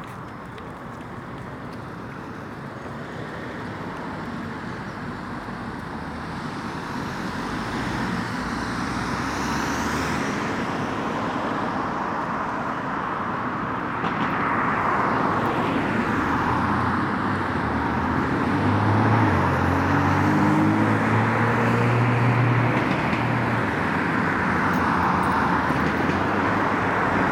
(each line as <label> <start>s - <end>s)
Fathers push buggies 0.0s - 6.0s